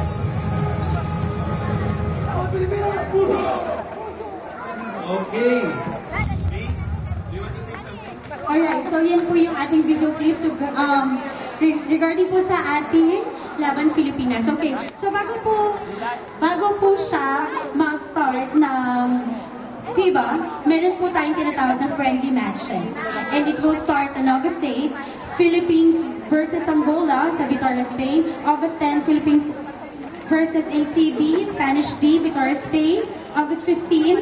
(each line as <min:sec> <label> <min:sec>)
0:00.0 Announcement of upcoming international games 0:34.2
0:00.0 voices of other party goers 0:34.2